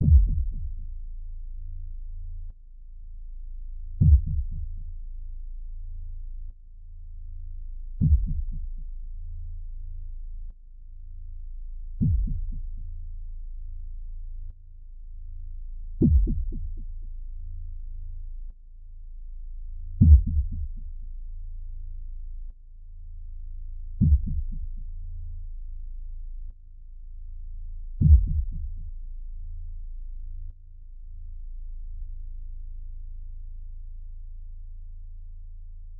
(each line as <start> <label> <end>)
0.0 bass pad 35.9